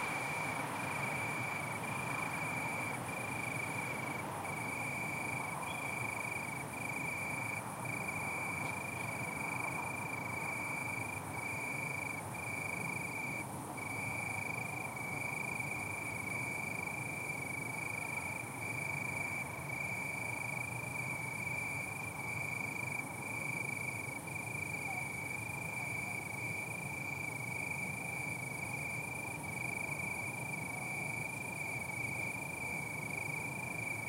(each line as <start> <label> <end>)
0.0 trams in distance 11.5
0.0 cars 11.5
0.0 Cricket in bush 34.0